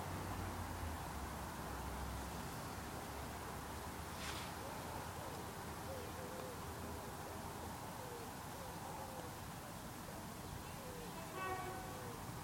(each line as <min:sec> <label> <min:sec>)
0:10.9 short train passes along the railway line 0:12.4
0:11.2 horn 0:12.1